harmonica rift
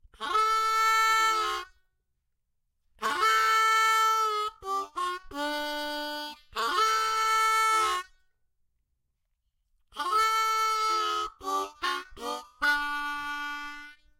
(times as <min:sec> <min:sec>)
0:00.2 0:01.8, 0:03.0 0:08.2, 0:09.9 0:14.1